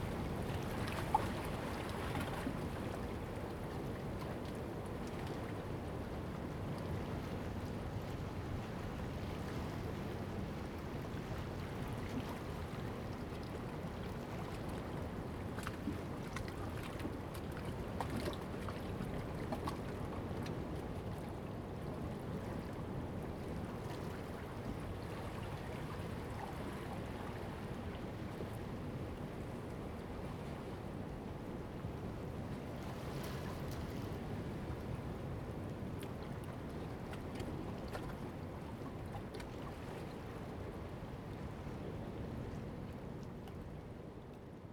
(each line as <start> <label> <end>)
0.0 Waves and tides 44.7